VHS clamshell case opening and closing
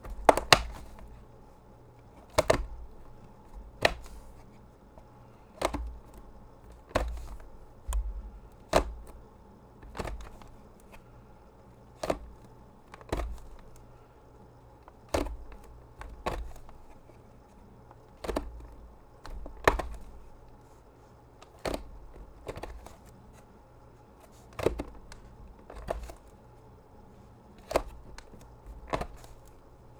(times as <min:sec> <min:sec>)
0:00.1 0:01.2, 0:02.2 0:09.2, 0:27.6 0:29.6